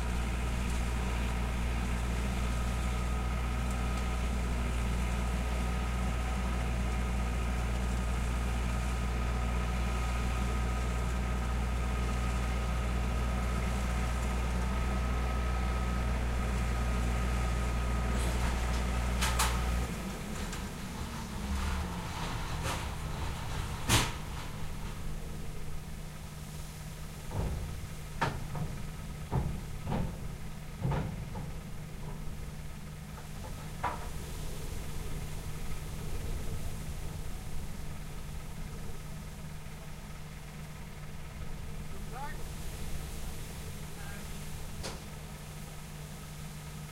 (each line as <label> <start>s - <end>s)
engine 0.0s - 46.9s
forklift 0.0s - 46.9s
trator 0.0s - 46.9s
truck 0.0s - 46.9s
wind 0.0s - 46.9s
voice 41.9s - 42.5s
voice 43.9s - 44.4s